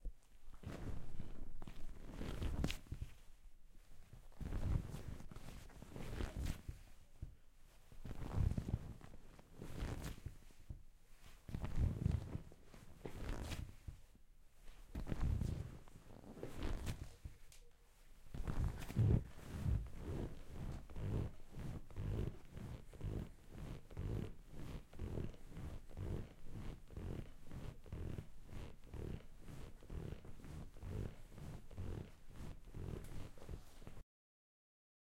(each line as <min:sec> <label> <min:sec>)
0:00.6 rocking on leather couch 0:03.1
0:00.6 Leather stretching and squeaking 0:02.9
0:04.4 Leather stretching and squeaking 0:06.6
0:08.0 Leather stretching and squeaking 0:10.3
0:08.0 rocking on leather couch 0:10.3
0:11.5 Leather stretching and squeaking 0:12.5
0:11.5 rocking on leather couch 0:13.9
0:13.1 Leather stretching and squeaking 0:13.8
0:14.9 rocking on leather couch 0:17.1
0:14.9 Leather stretching and squeaking 0:17.3
0:18.3 Leather stretching and squeaking 0:34.0
0:18.3 rocking on leather couch 0:34.0